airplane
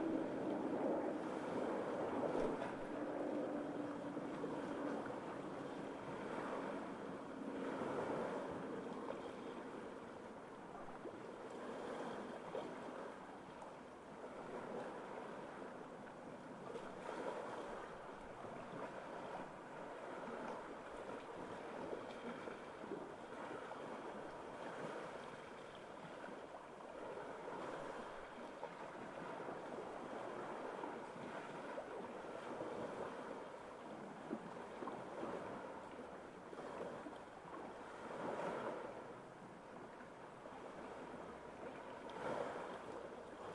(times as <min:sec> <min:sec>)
0:00.0 0:10.9